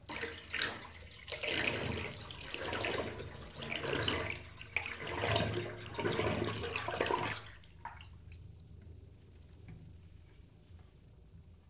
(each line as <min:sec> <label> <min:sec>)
0:00.0 Bathtub emptying 0:08.1